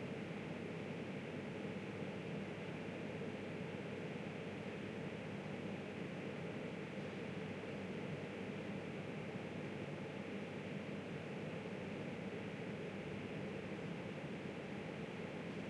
0.0s electrical installations on the rooftop 15.6s

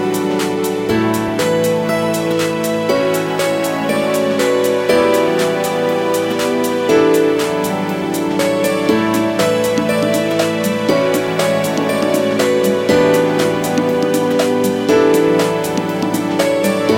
0.0s musical theme 16.9s

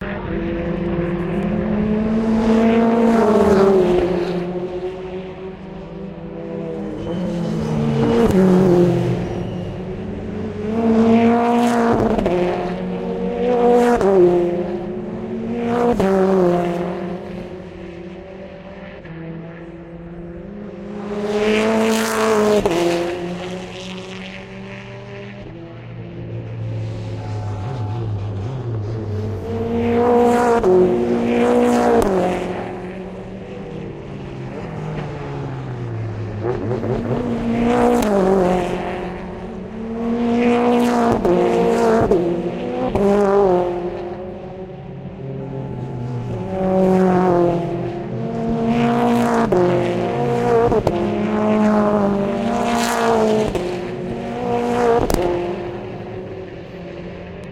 0.0s British Touring Cars racing 57.5s

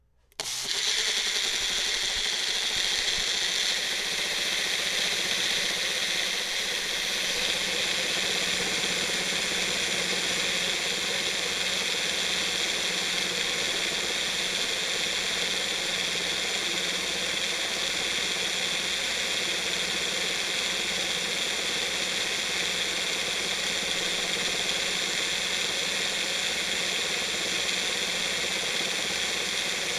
0.3s blender mixing 29.9s

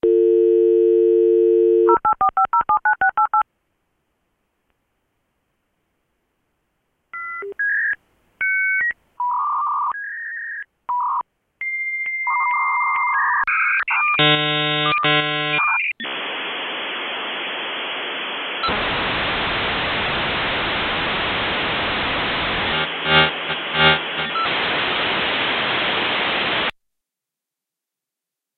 0.0s dial-up connection 3.4s
22.3s dial-up connection 25.2s

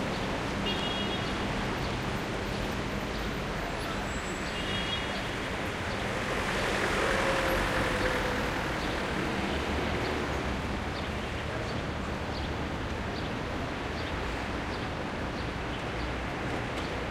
0.0s traffic 17.1s

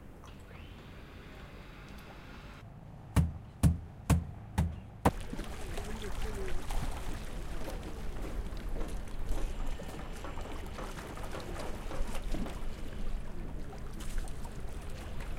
0.0s water 2.1s
0.0s boat 15.3s
3.2s hammer 4.8s
3.9s water 15.3s

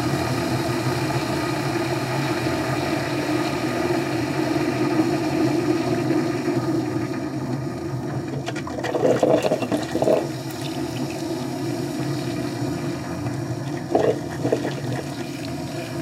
0.0s coffee maker 16.0s

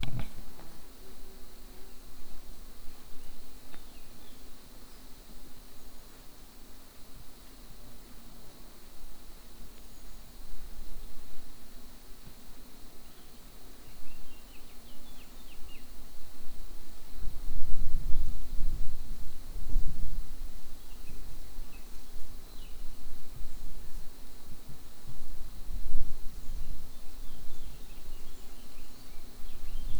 0.0s birds 0.7s
0.0s chainsaw or other machine far in the distance 0.7s
26.6s birds 29.9s

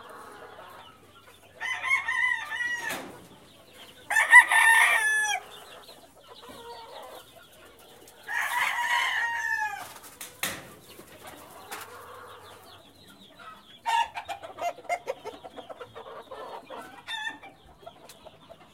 0.0s roosters 18.7s

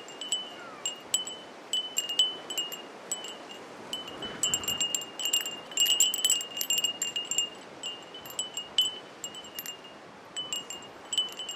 0.0s Wind Chimes 11.5s
3.2s strong gusts 8.6s

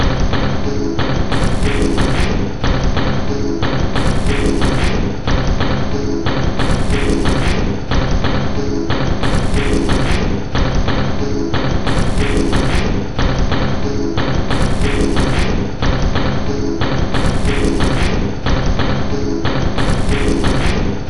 0.0s Drum Loop 21.0s

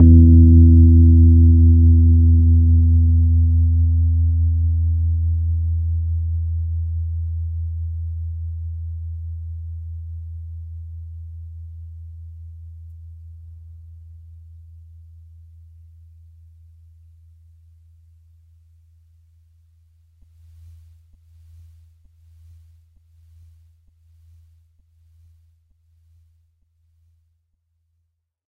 0.0s Individual notes from my Rhodes 3.4s

